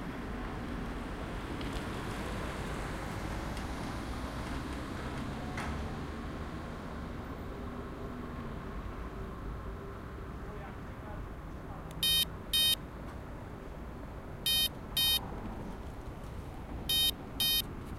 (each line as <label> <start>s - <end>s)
cars 0.0s - 17.9s
beeping traffic lights 12.0s - 12.8s
beeping traffic lights 14.4s - 15.2s
beeping traffic lights 16.9s - 17.6s